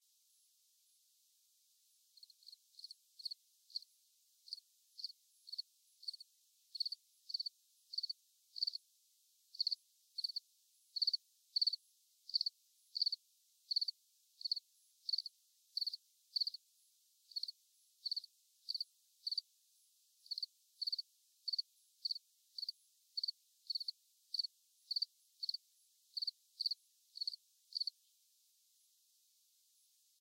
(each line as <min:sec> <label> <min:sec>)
0:02.2 Crickets chirping 0:08.8
0:09.5 Crickets chirping 0:16.6
0:17.3 Crickets chirping 0:19.5
0:20.2 Crickets chirping 0:28.0